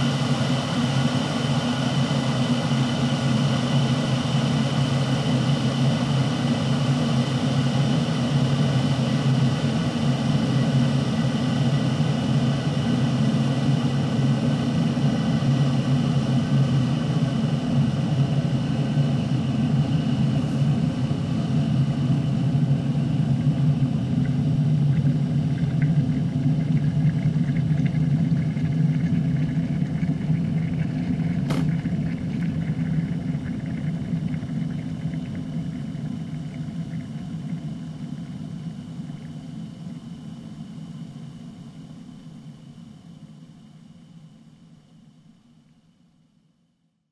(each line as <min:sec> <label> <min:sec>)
0:26.8 kettle coming to the boil 0:36.6